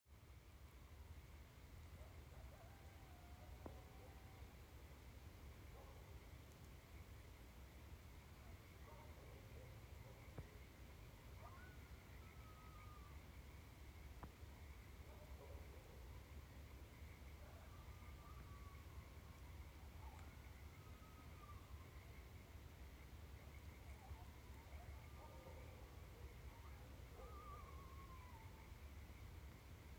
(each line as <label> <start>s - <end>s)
coyotes 0.2s - 29.9s
Frogs 1.6s - 29.9s
dogs 5.7s - 6.1s
dogs 8.4s - 10.6s
dogs 15.1s - 16.1s
dogs 23.9s - 28.5s